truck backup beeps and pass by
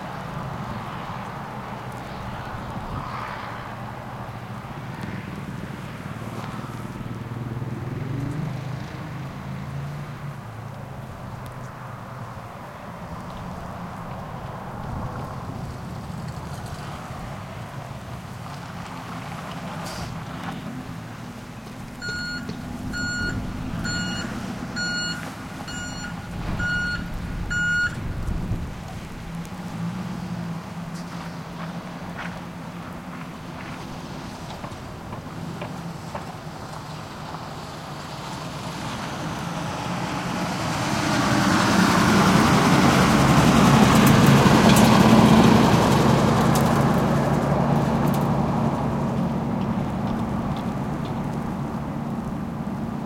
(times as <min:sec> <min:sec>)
0:21.4 0:28.3